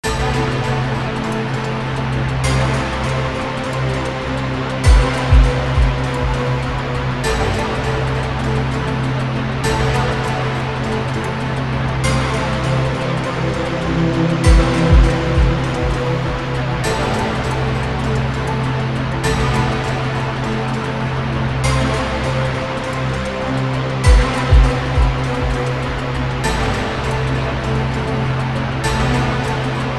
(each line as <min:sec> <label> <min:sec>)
0:00.0 Bass 0:29.9
0:04.8 Kick Drum 0:06.9
0:14.4 Drumroll 0:16.4
0:14.4 Kick Drum 0:16.5
0:24.0 Kick Drum 0:26.1